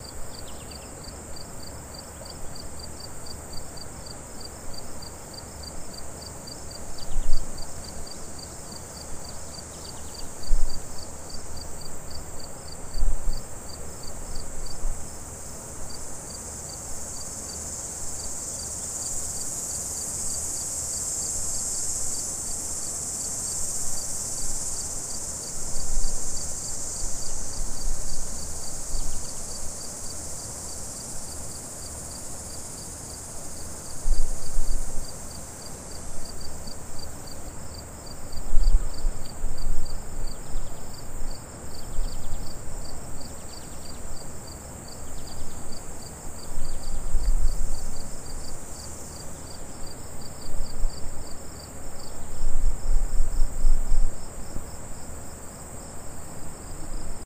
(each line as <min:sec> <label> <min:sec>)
0:00.0 Outdoor Air Noise 0:57.2
0:00.0 crickets 0:57.2